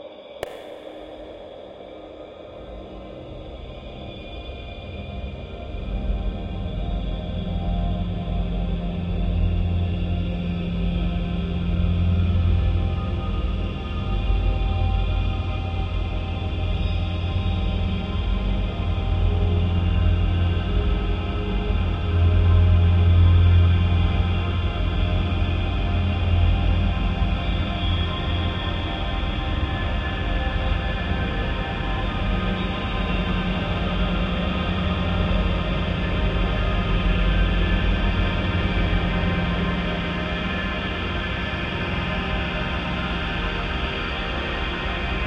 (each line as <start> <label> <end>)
0.0 slowly evolving dreamy ambient drone pad 45.2